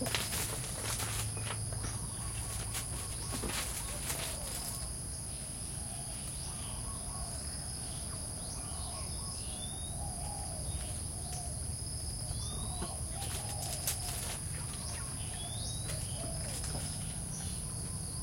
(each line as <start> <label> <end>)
0.0 Chickens 4.9
0.0 birds 18.2
0.0 frogs 18.2
0.0 insects 18.2
12.3 Chickens 18.2